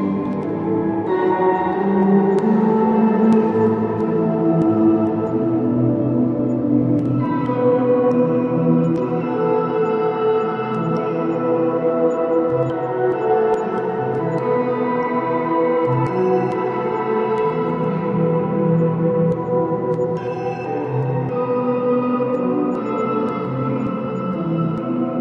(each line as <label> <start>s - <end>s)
guitar 0.0s - 25.2s